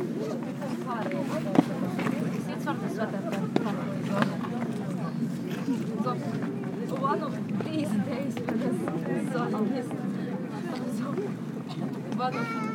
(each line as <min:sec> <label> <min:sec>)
0:00.0 tourists 0:12.7